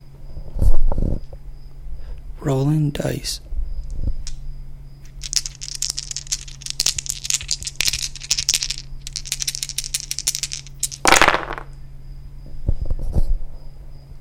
Shaking and rolling dice 5.0 - 11.7

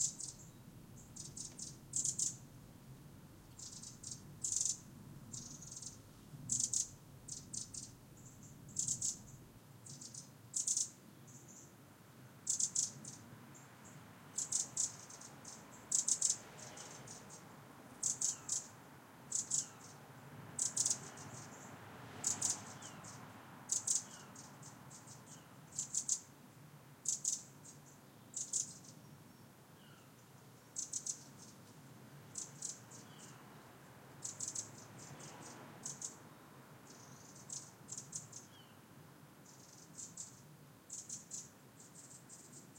birds 0.0 - 2.6
birds 3.3 - 11.8
birds 12.4 - 42.7

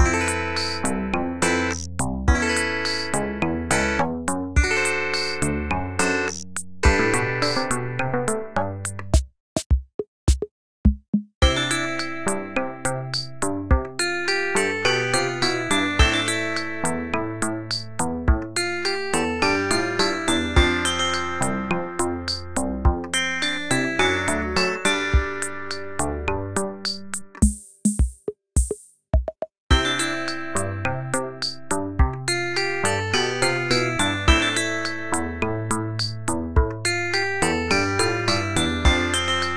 glockenspiel 0.0 - 4.0
beat machine 0.0 - 8.0
synth bass 0.0 - 9.0
glockenspiel 4.6 - 8.2
glockenspiel 11.4 - 27.2
beat machine 24.1 - 26.1
beat machine 26.8 - 30.5
glockenspiel 29.7 - 39.5
synth bass 29.8 - 39.4

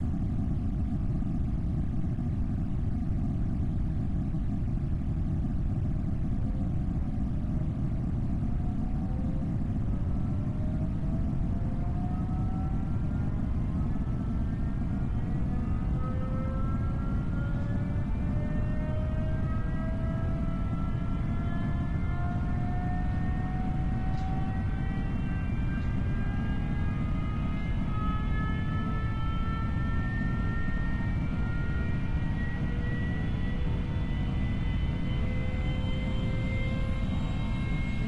aircraft 0.0 - 38.0

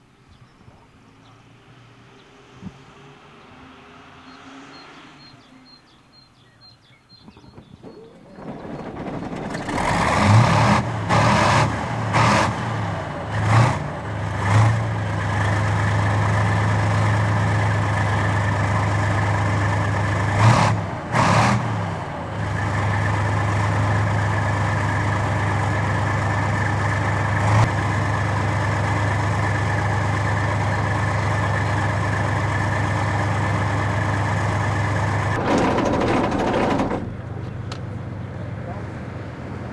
tank engine 0.0 - 39.7

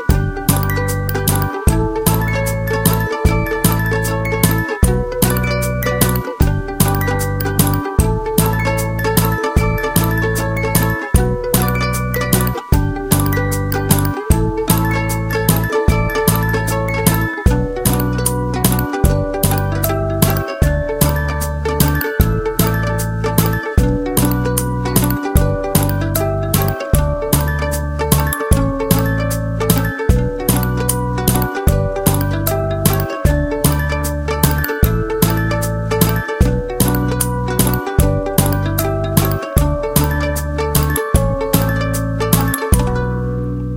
music box 0.0 - 43.2

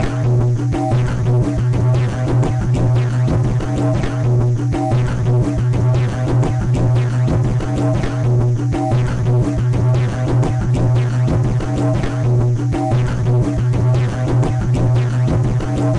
drum 0.0 - 15.9

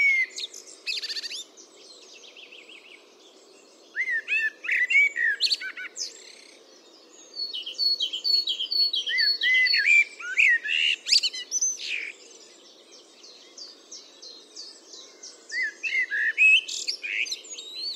Blackbird 0.0 - 17.9
background noise 0.0 - 17.9
song thrush 0.0 - 17.9

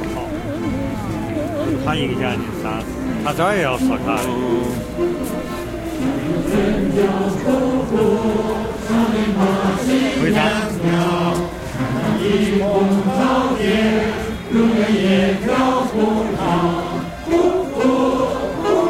cuckoo 0.0 - 7.8
playing the accordion 0.0 - 18.8
about 30 people singing in a group 4.3 - 18.8

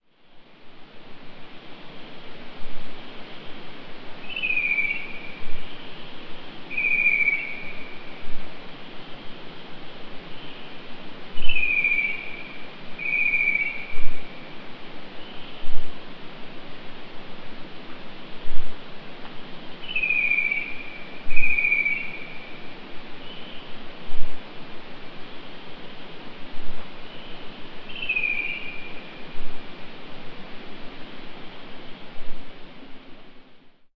bird call 4.2 - 6.0
bird call 6.7 - 8.1
bird call 11.4 - 14.3
bird call 19.8 - 22.6
bird call 27.1 - 29.1

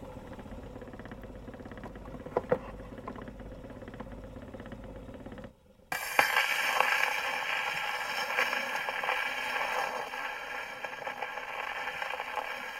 motor noise 0.0 - 12.7
pops 5.9 - 12.7
surface static 5.9 - 12.7
various scratches on a 78 record 5.9 - 12.7

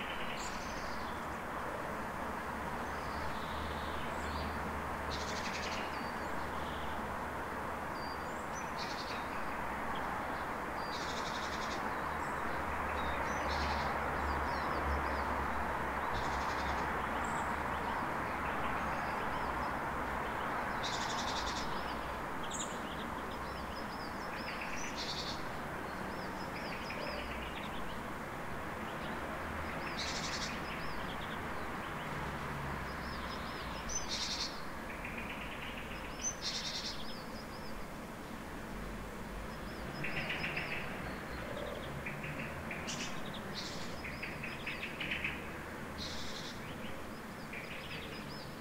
street-noice 0.0 - 48.6
several birds 8.0 - 32.2
several birds 32.9 - 38.0
several birds 39.4 - 48.6

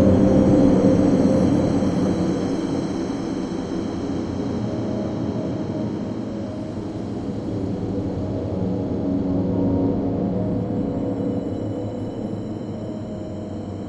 Drone 0.0 - 13.8

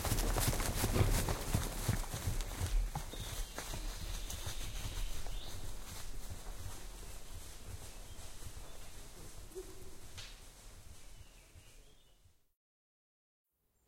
horses walking in the forest 0.0 - 12.5

